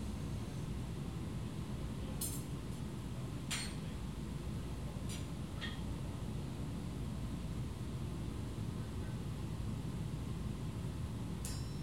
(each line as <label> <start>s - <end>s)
tinging of hammer on anvil 11.4s - 11.8s